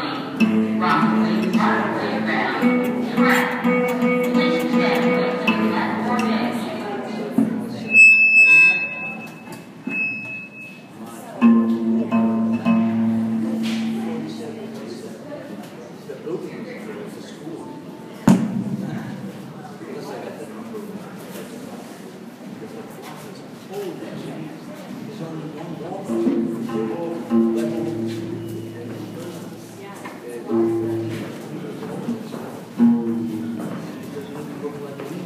vocals 0:00.0 - 0:08.8
Kora 0:11.4 - 0:14.8
Kora 0:32.8 - 0:33.9

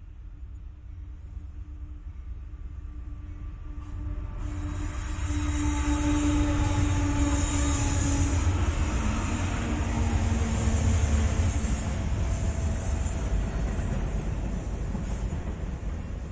Freight Train Slow3 0:00.0 - 0:16.3

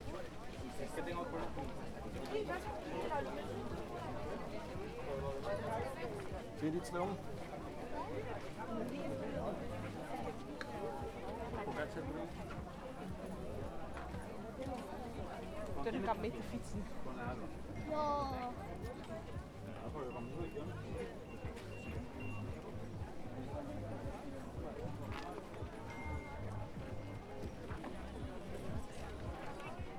chatter 0:00.0 - 0:29.9

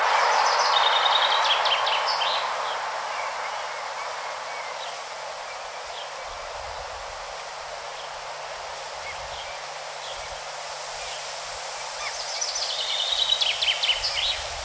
song of a Chaffinch 0:00.0 - 0:14.6

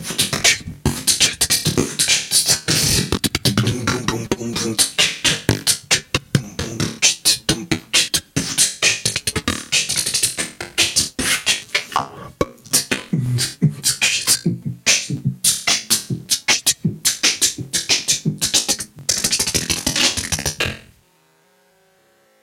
Different breathing with some distortion 0:00.4 - 0:20.9

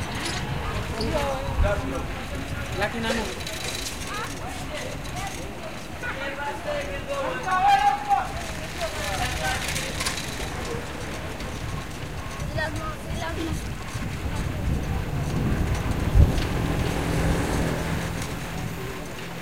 bicycle ride 0:00.0 - 0:19.4

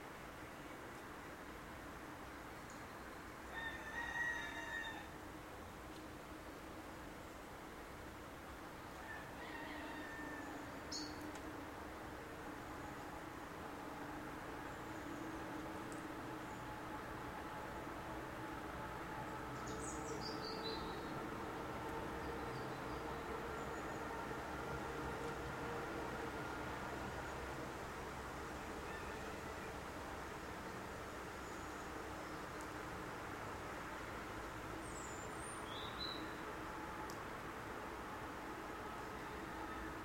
Train arriving and departing 0:10.6 - 0:40.0
heavy traffic noise 0:10.8 - 0:40.0

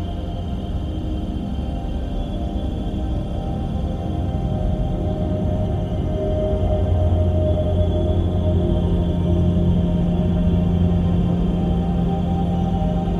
slowly evolving dreamy ambient drone pad 0:00.0 - 0:13.1

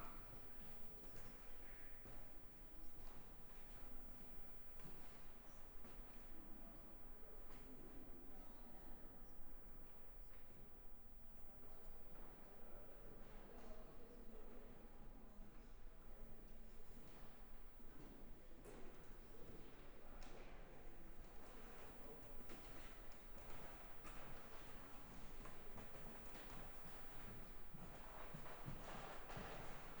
People take informational papers 0:18.0 - 0:30.0
Walking 0:22.5 - 0:30.0

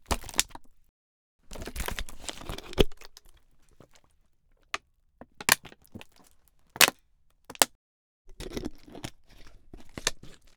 opening and drinking from a plastic water bottle 0:01.5 - 0:10.5

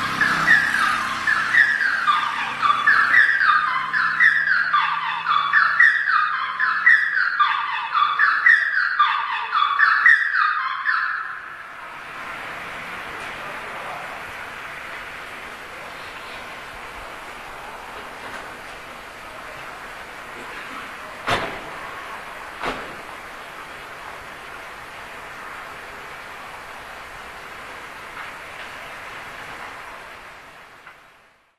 burglar alarm 0:00.0 - 0:11.8

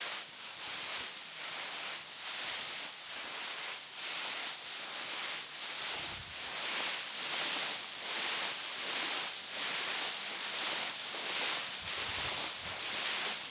leaves being pushed by feet 0:00.0 - 0:13.5

